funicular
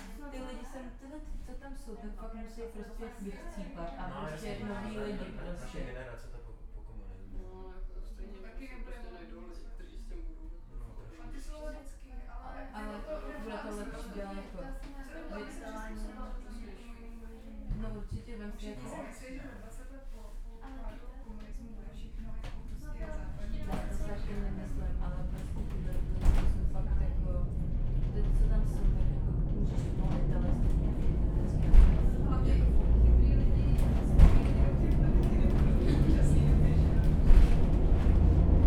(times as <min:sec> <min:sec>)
0:22.0 0:38.6